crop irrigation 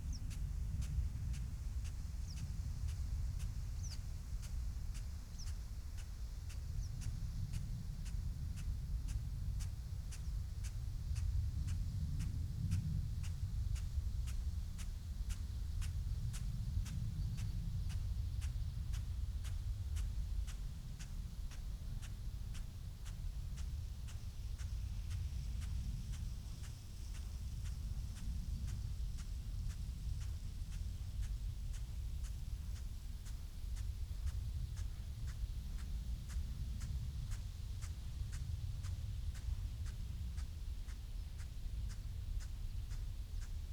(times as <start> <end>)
13.2 43.7